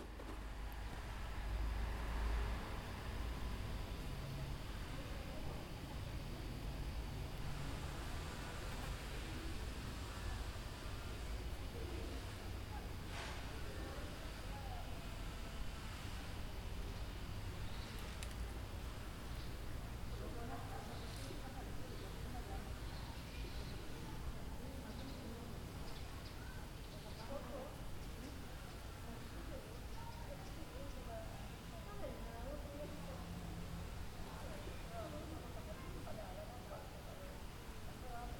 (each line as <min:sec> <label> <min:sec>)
0:00.0 People chatting in the background 0:38.3
0:16.9 Birds tweeting 0:18.1
0:21.9 Birds tweeting 0:24.0
0:24.7 Birds tweeting 0:28.9